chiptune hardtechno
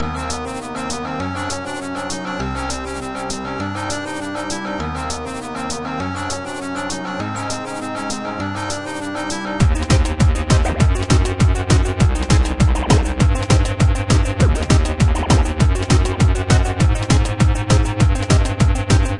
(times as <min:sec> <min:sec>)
0:09.6 0:19.1